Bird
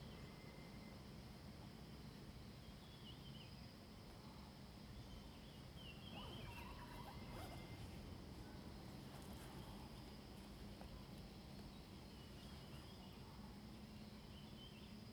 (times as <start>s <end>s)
5.8s 7.8s